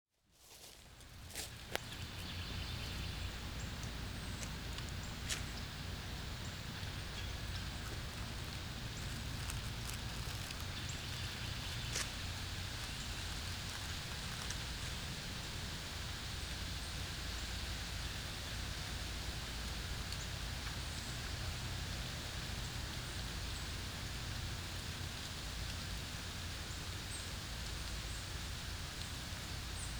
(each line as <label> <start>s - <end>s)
leaves falling to the colorful forest floor 0.3s - 18.6s
wind blowing through the trees 0.3s - 29.9s